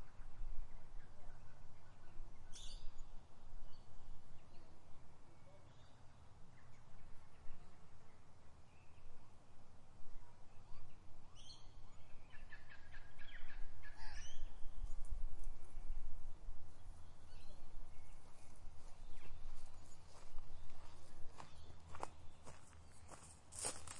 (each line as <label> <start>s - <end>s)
wind 0.0s - 23.9s
birds 10.2s - 23.9s
walking 18.8s - 23.9s